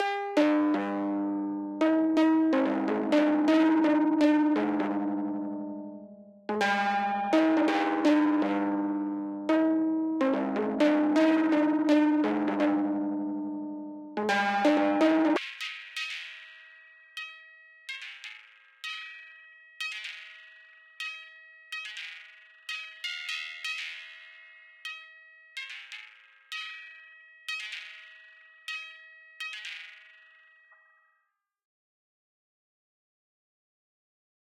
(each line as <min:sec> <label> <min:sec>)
0:00.0 synth 0:15.4